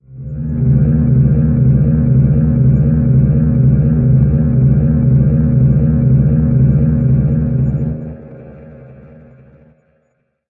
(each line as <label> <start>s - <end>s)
notes with an electric bass 0.0s - 9.6s